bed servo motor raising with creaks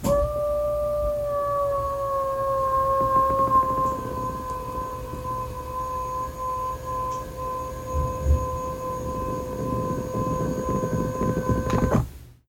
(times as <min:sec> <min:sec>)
0:02.2 0:12.1